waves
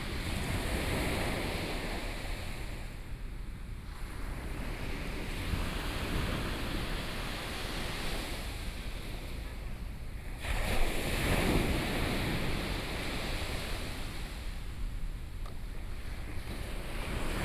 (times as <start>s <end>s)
3.8s 17.4s